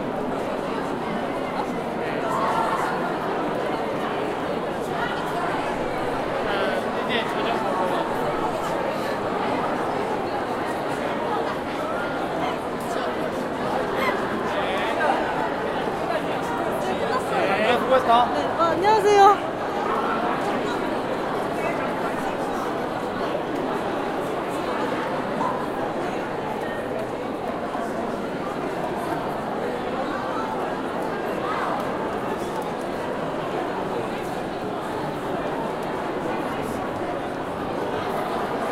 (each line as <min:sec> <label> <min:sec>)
0:00.0 People talking 0:38.7